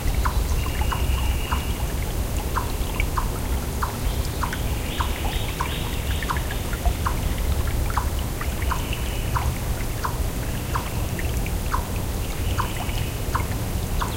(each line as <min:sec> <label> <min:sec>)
0:00.0 gentle flowing of a brook 0:14.1
0:02.4 animal making a constant sort of clucking noise 0:14.1
0:02.6 birds in the background 0:07.2